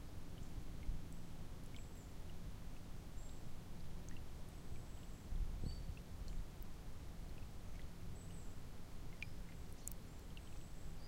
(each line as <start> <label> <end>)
4.8 birds in the distance 6.0
7.7 birds in the distance 11.0